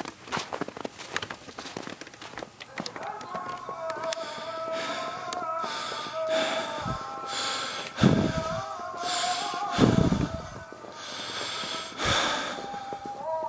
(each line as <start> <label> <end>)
0.0 Walking On Snow 13.4
4.1 breath 13.2